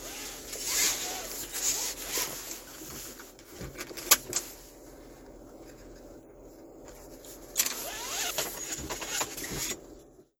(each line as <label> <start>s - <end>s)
nylon zuzzes 0.0s - 3.1s
nylon zuzzes 7.8s - 9.8s